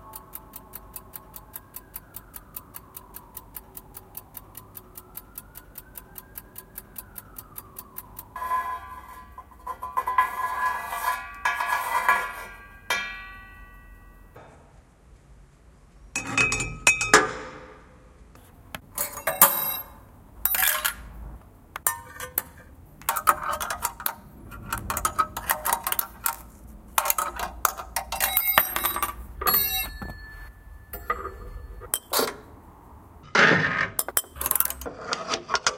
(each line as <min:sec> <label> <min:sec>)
0:00.0 Clock 0:14.1
0:00.0 Sirens 0:10.5
0:18.8 Hitting things with tiny spoons 0:21.0
0:21.8 Hitting things with tiny spoons 0:32.5
0:21.8 Clock 0:32.6
0:21.8 rattling costume jewellery 0:32.3
0:34.0 Hitting things with tiny spoons 0:34.9